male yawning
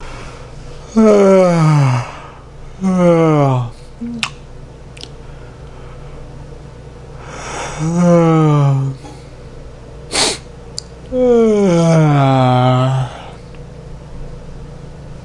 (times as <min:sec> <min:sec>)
0:00.9 0:04.3, 0:07.7 0:09.1, 0:11.1 0:13.4